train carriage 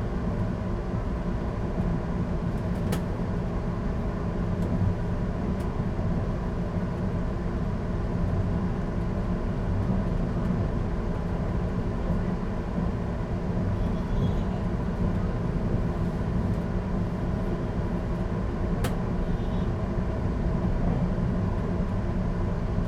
9.8s 19.7s

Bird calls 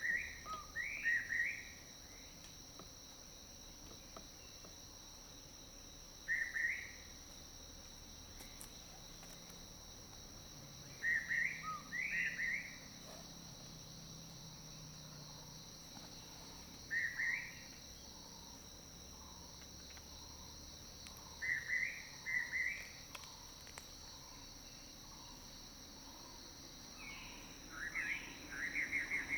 0.0s 1.7s

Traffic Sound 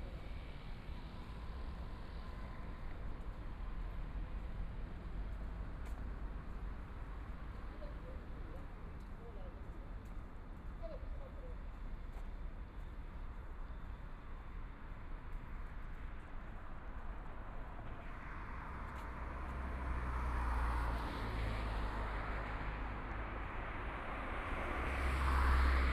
15.4s 25.9s

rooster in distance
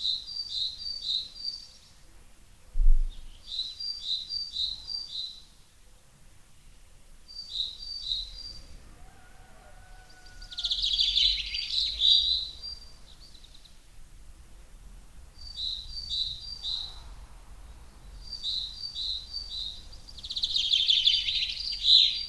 8.7s 11.5s

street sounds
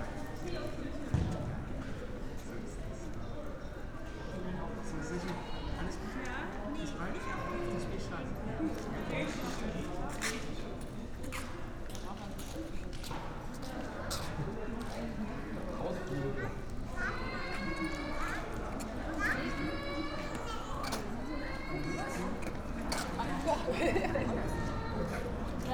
16.5s 25.7s

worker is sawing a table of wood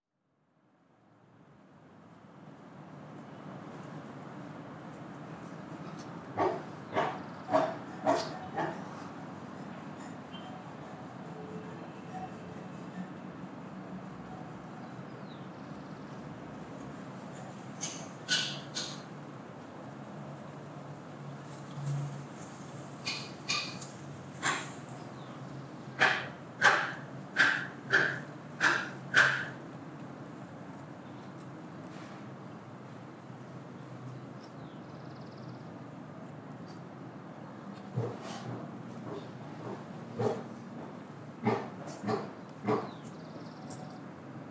6.4s 9.2s, 26.0s 29.5s, 37.9s 40.5s, 41.4s 42.9s

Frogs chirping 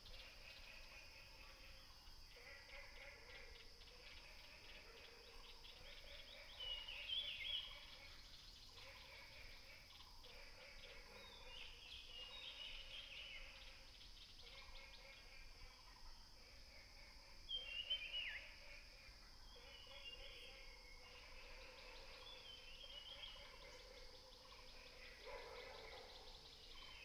13.8s 27.0s

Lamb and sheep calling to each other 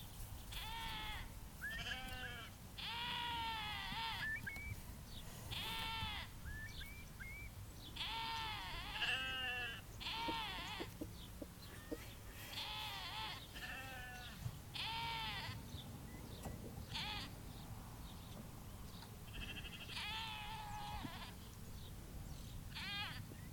0.5s 4.7s, 5.5s 6.4s, 8.0s 10.9s, 12.4s 15.6s, 16.9s 17.4s, 19.3s 21.4s, 22.7s 23.3s

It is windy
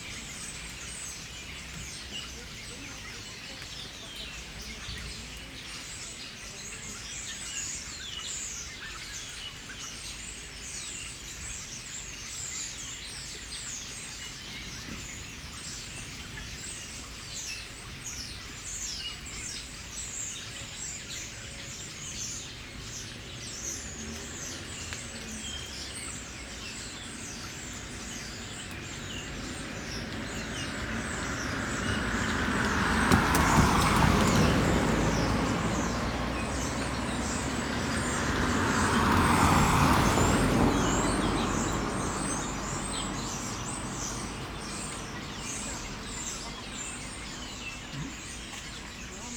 12.9s 47.6s

